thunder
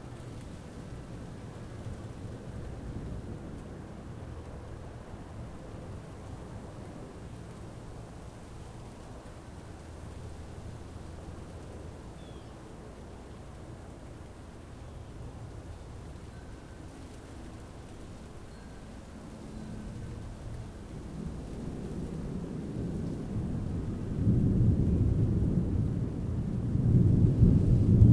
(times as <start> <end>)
21.2 28.1